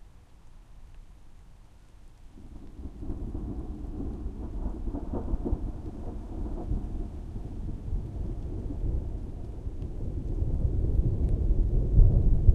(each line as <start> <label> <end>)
0.0 rain 12.5
2.3 heavy thunder 12.5